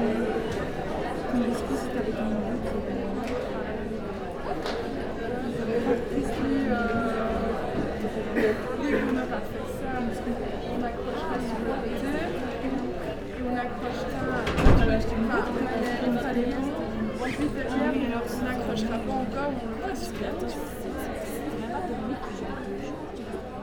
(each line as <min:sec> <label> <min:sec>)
0:00.0 students are joking everywhere 0:22.8